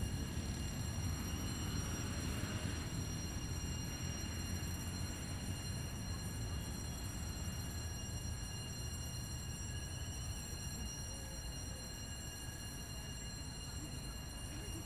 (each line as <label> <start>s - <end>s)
paso del tren de la sabana 0.0s - 14.8s